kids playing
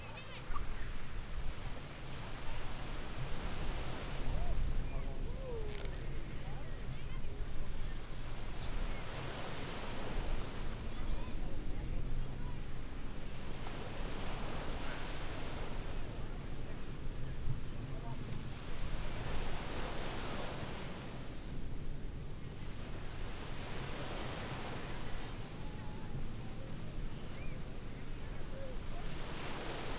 0.0 0.9

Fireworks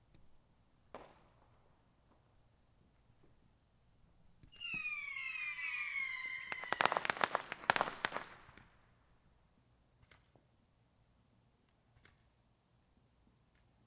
0.9 2.4, 4.4 8.9

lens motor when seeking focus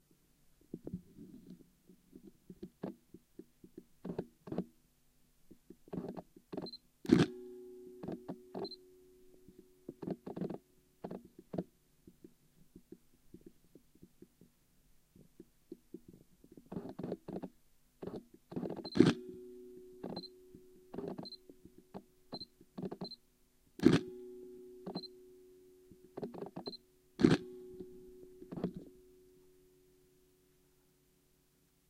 26.3 27.5

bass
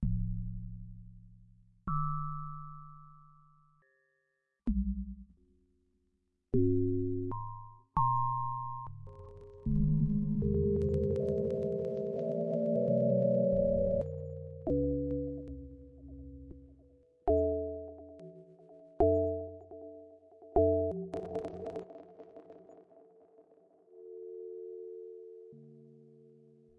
0.0 3.8, 4.7 5.6, 6.5 12.2, 13.3 18.2

